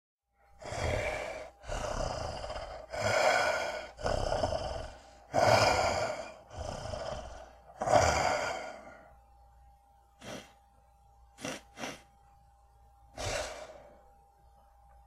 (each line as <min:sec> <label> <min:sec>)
0:00.6 creature snarling 0:09.0
0:10.2 creature snarling 0:10.5
0:11.4 creature snarling 0:12.1
0:11.4 sniff 0:12.1
0:13.2 creature snarling 0:13.8